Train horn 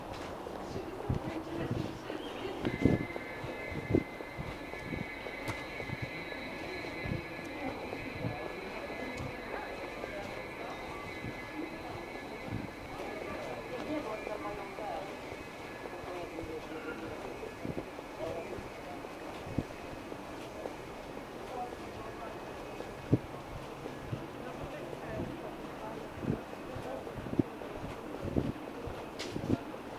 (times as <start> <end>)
2.1 18.5